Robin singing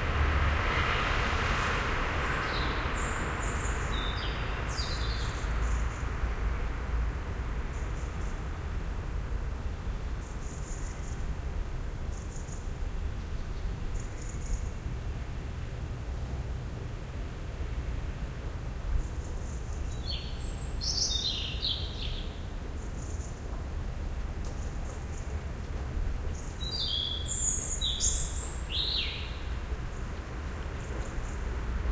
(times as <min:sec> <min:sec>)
0:19.4 0:22.4, 0:26.4 0:29.5